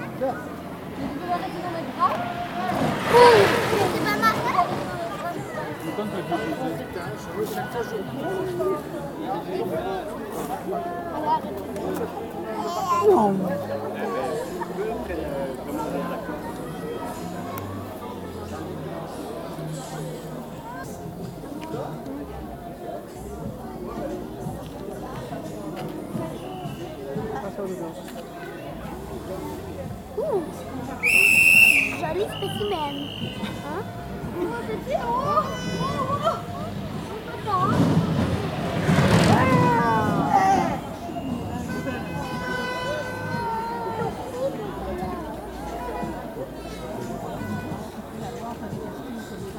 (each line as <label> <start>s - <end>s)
Young children 1.2s - 5.8s
Young children 12.3s - 14.6s
Young children 31.0s - 38.3s